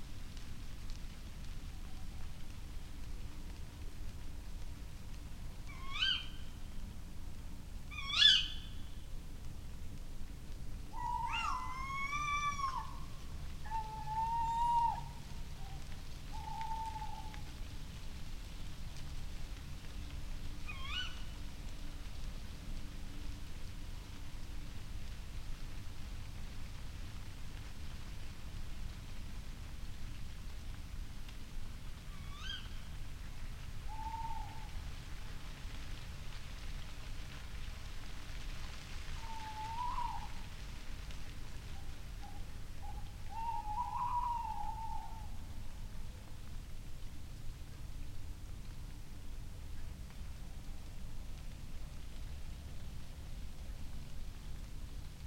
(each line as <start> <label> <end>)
0.0 rustling leaves 55.2
5.6 little owl 6.5
5.7 tawny owl calls 6.5
7.9 tawny owl calls 8.9
7.9 little owl 8.8
10.9 little owl 17.5
10.9 tawny owl calls 17.5
11.0 bird calls 13.0
20.6 little owl 21.4
20.6 tawny owl calls 21.4
32.0 little owl 32.9
32.1 tawny owl calls 32.9
33.9 tawny owl calls 34.8
33.9 little owl 34.8
39.2 little owl 40.5
39.2 tawny owl calls 40.5
41.7 little owl 45.6
41.7 tawny owl calls 45.4
42.2 bird calls 45.3